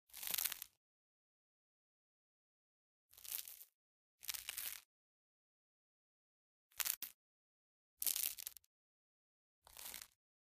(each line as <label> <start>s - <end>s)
bread crunch 0.1s - 0.8s
bread crunch 3.2s - 4.9s
bread crunch 9.7s - 10.2s